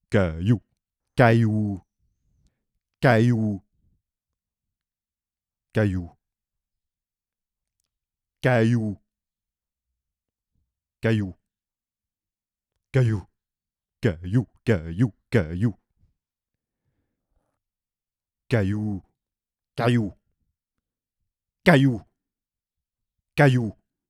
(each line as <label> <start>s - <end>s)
male 0.1s - 1.8s
male 3.0s - 3.6s
male 14.0s - 15.8s
male 18.5s - 19.1s
male 23.4s - 23.8s